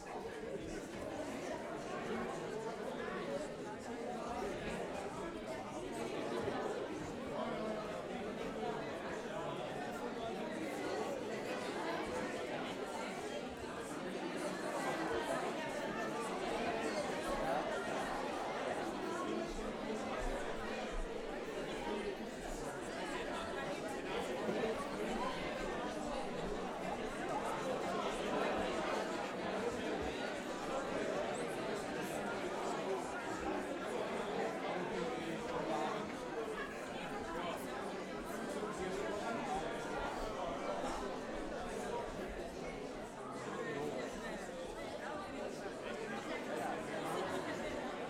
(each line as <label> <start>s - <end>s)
public entering theatre 0.0s - 48.0s